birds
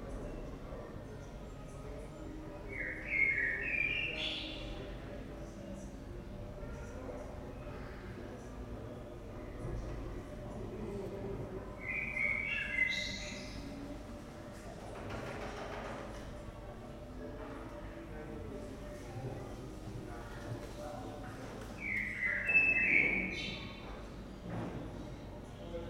1.9s 5.6s, 11.6s 13.9s, 20.6s 24.4s

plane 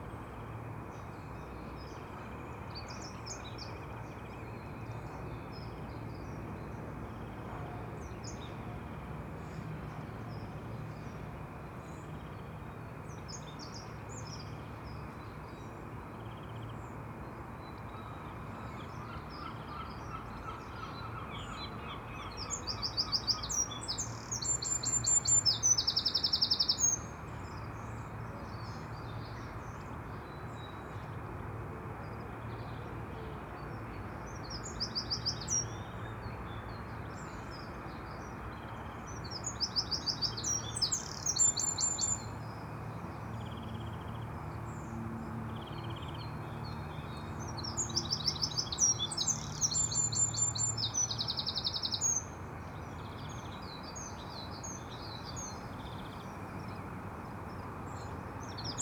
41.8s 48.4s

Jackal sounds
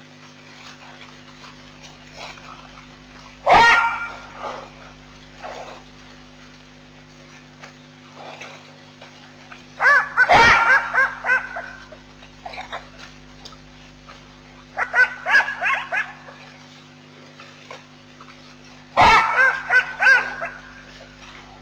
3.4s 5.9s, 9.8s 13.2s, 14.6s 16.6s, 19.0s 21.6s

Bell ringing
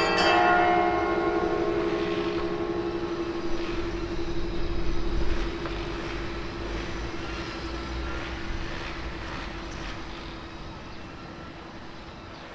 0.0s 6.5s

